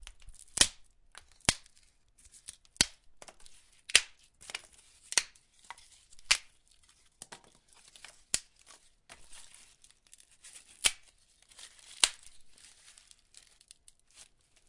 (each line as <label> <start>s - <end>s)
Tree branches being broken 10.1s - 13.7s